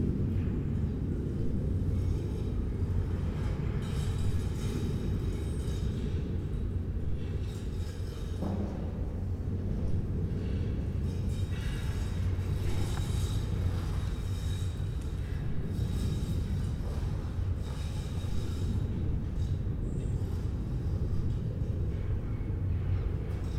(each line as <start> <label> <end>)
0.0 wind 23.5
1.8 people inside scraping the ground 22.1